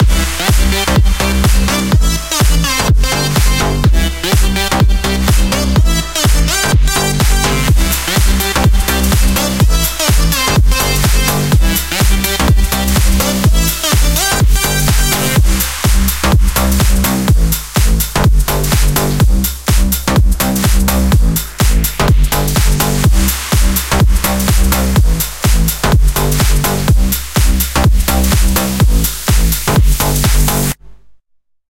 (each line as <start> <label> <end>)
0.0 basses 31.2